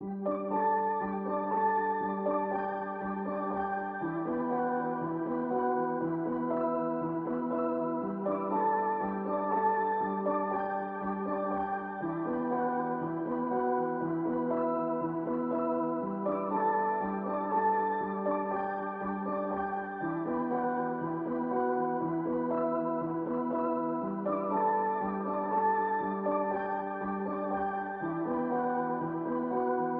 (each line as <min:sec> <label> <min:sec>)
0:00.0 piano 0:29.9